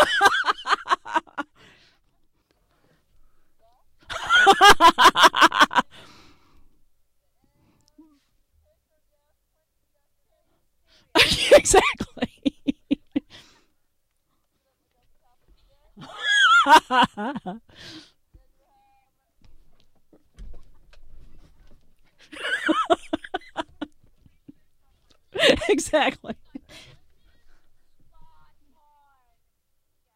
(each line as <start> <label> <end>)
0.0 woman laughing, sincerely 1.6
4.0 woman laughing, sincerely 6.1
11.1 woman laughing, sincerely 13.6
16.0 woman laughing, sincerely 17.8
22.2 woman laughing, sincerely 24.6
25.3 woman laughing, sincerely 27.6